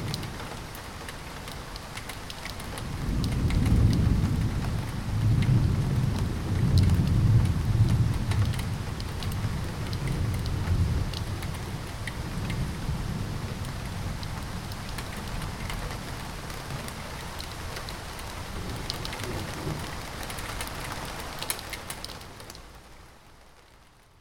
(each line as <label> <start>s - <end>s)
rain noises with increasing volume 0.0s - 24.2s
rumbling sound of thunder from far away 2.8s - 17.1s